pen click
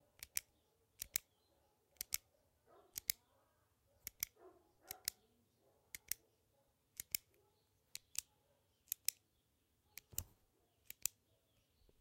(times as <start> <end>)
0.2 1.3, 2.0 2.2, 3.0 3.2, 4.0 5.2, 6.0 6.2, 7.0 8.3, 8.9 9.2, 10.0 11.2